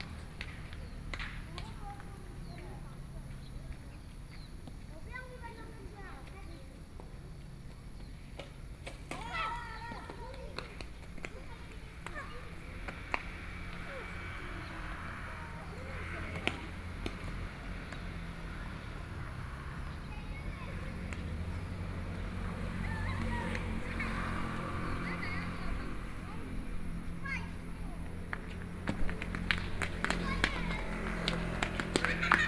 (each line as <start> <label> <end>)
0.0 Traffic Sound 32.4
0.0 children playing games 32.4